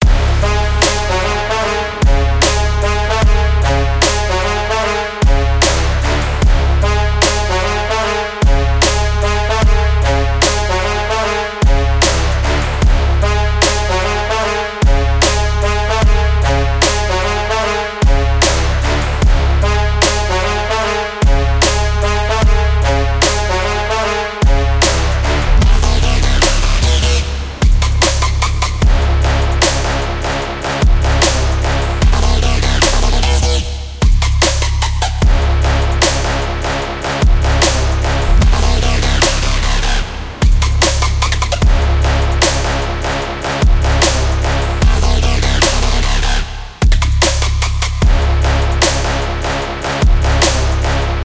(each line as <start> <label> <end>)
0.0 bass 51.2
0.0 synth 46.8
0.8 snare 1.3
2.4 snare 2.8
5.6 snare 6.1
8.8 snare 9.3
12.0 snare 12.6
18.4 snare 19.0
21.6 snare 22.1
24.8 snare 25.4
26.4 snare 28.8
31.2 snare 31.8
32.7 snare 35.2
37.6 snare 38.4
39.1 snare 41.7
42.4 snare 42.9
44.0 snare 44.6
45.5 snare 48.0
48.8 snare 49.6
50.4 snare 51.0